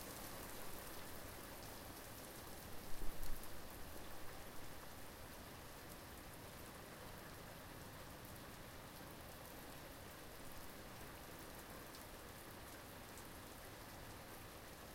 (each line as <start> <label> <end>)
0.0 rain 14.9